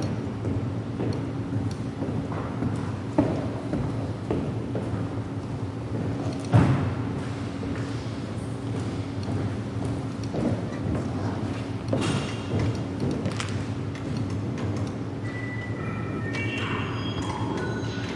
0.0s footsteps on a wooden floor 15.0s
14.4s a hum 18.1s
15.2s glitchy bells 18.1s

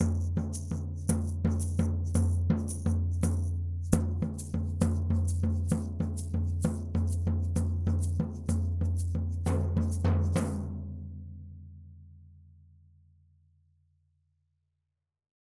0.0s floor tom- polyrhythm 11.1s
0.0s shaker 11.4s

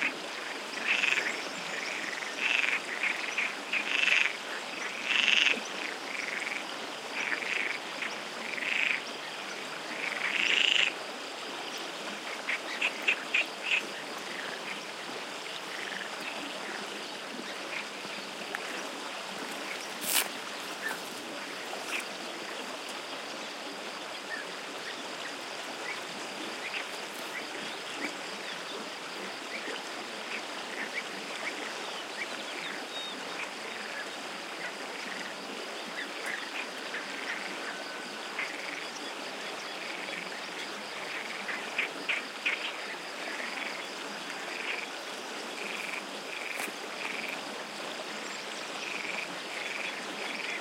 0.0s crickets 50.6s
0.0s frogs 50.6s
0.0s stream 50.6s
11.7s birds 34.2s

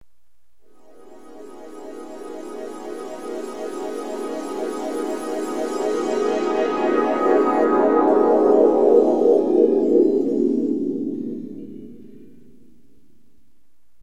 0.6s synth loop with lo pass filter and delay 12.4s

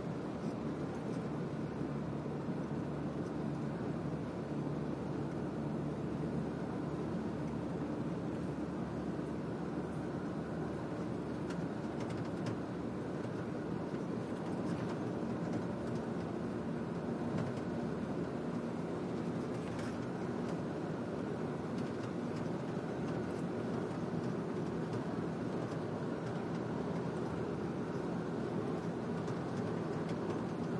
0.0s truck van int driving high speed highway a bit 30.7s

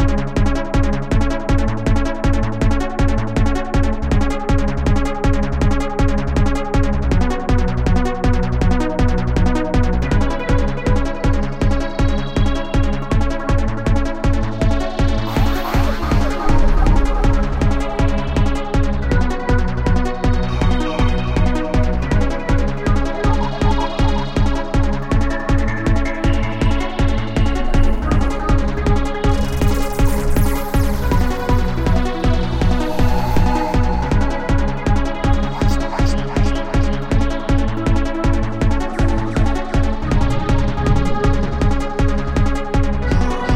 14.7s underwater music 21.4s
22.2s underwater music 36.0s

